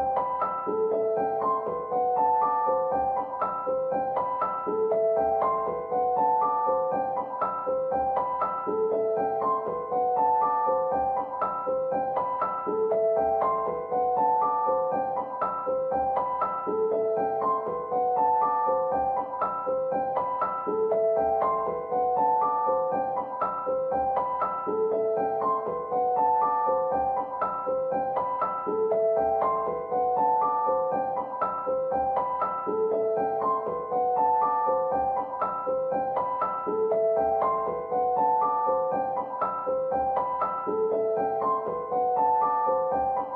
0.0s Piano 43.3s

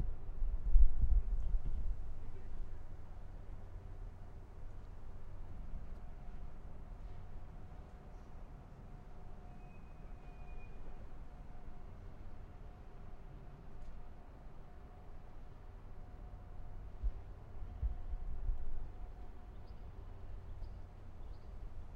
1.6s bus arrived 18.2s

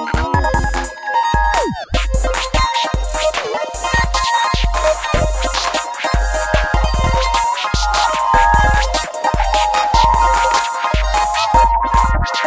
0.0s 8 bit synth 1.9s
0.0s beat 12.4s
4.8s 8 bit synth 12.4s

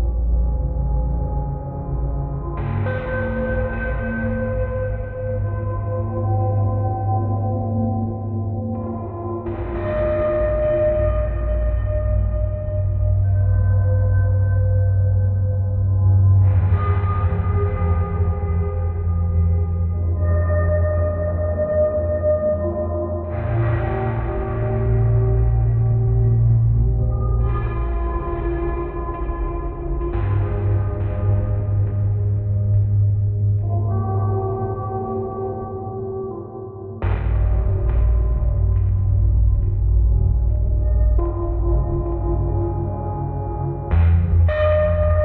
0.0s drums 6.8s
8.8s drums 14.2s
16.0s drums 20.6s
23.2s drums 34.4s
37.0s drums 45.2s

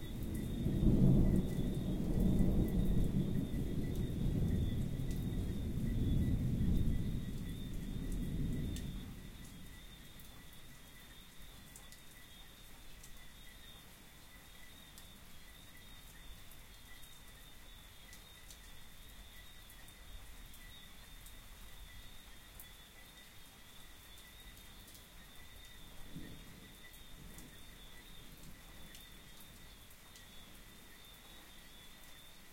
0.0s falling rain 32.5s
0.1s singing treefrogs 32.5s
0.3s thunderbolts of varying intensity 9.5s

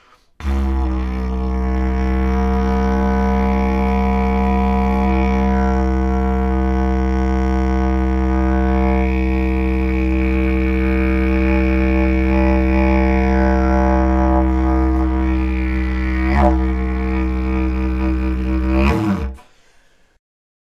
0.4s Droning on eucalyptus didgeridoo 19.4s

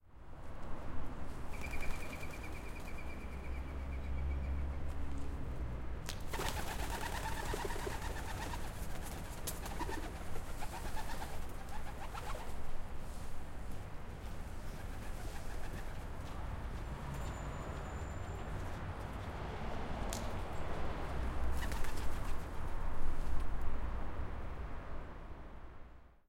6.3s pigeons 12.5s

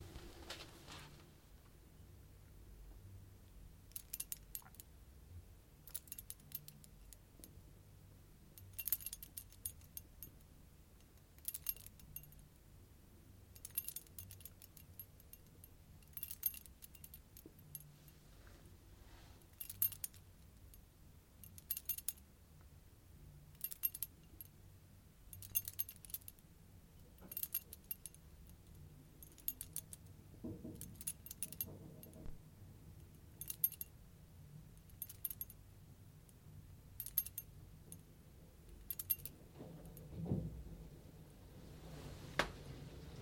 25.4s small metal objects clanging 26.3s
30.6s small metal objects clanging 32.4s
38.8s small metal objects clanging 40.0s

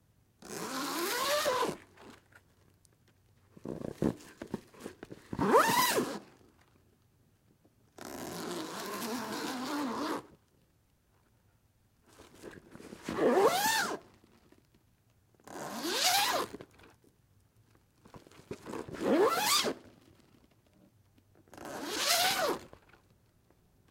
0.4s Zipper for a tent or large bag 1.8s
3.6s Zipper for a tent or large bag 4.3s
5.3s Zipper for a tent or large bag 6.3s
8.0s Zipper for a tent or large bag 10.3s
13.0s Zipper for a tent or large bag 14.0s
15.4s Zipper for a tent or large bag 16.6s
18.7s Zipper for a tent or large bag 19.8s
21.5s Zipper for a tent or large bag 22.7s

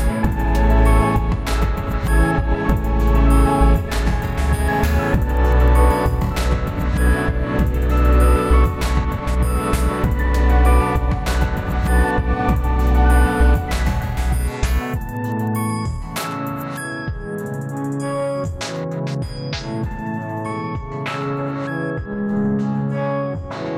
0.0s Synth 18.6s

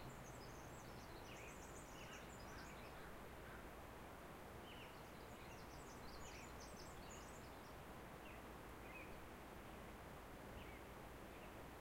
0.0s Songbirds 11.8s

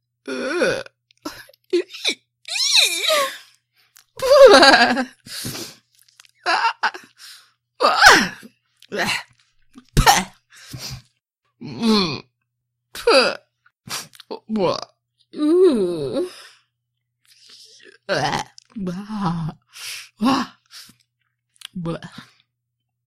14.3s voice 16.3s
21.7s voice 22.3s

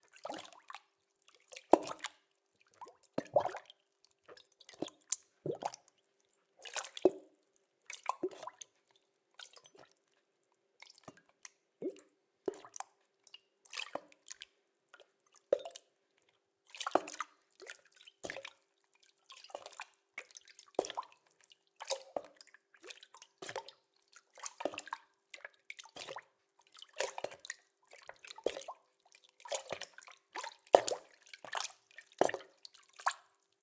0.1s Hollow Water Sounds Splashing 6.0s
2.8s Gurgle 3.7s
6.6s Hollow Water Sounds Splashing 8.6s
19.4s Hollow Water Sounds Splashing 33.4s

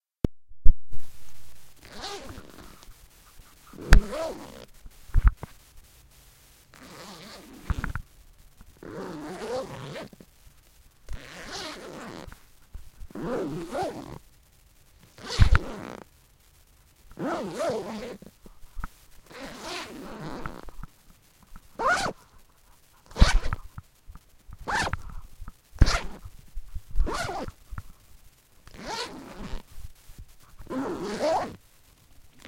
1.8s backpack being zipped 2.8s
3.7s backpack being zipped 4.7s
6.8s backpack being zipped 7.9s
8.8s backpack being zipped 10.2s
11.2s backpack being zipped 12.3s
13.2s backpack being zipped 14.2s
15.2s backpack being zipped 16.0s
17.2s backpack being zipped 18.3s
19.3s backpack being zipped 20.6s
21.8s backpack being zipped 22.2s
23.1s backpack being zipped 23.6s
24.6s backpack being zipped 25.0s
25.8s backpack being zipped 26.2s
27.0s backpack being zipped 27.6s
28.7s backpack being zipped 29.6s
30.6s backpack being zipped 31.6s

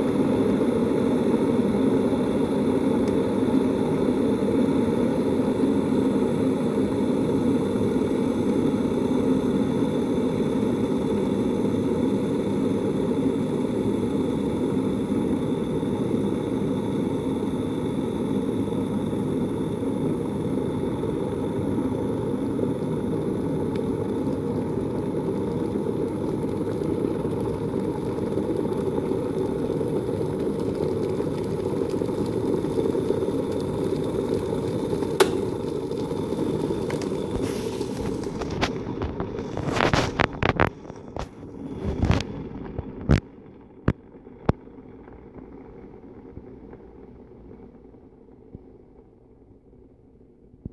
0.0s Tea Kettle Heating and Boiling 50.7s

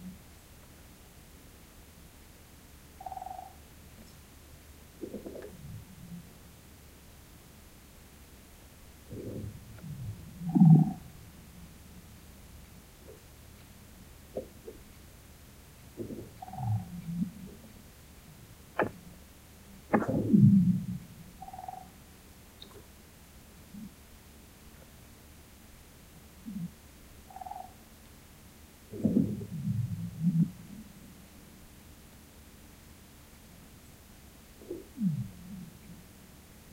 3.0s woodpecker 3.6s
19.8s Frozen lake making sounds as it's freezing 21.8s
21.4s woodpecker 21.9s
28.9s Frozen lake making sounds as it's freezing 31.0s

